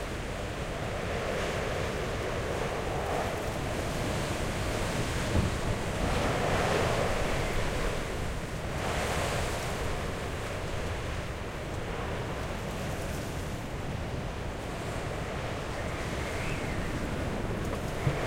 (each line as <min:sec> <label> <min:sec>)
0:00.0 wind 0:18.2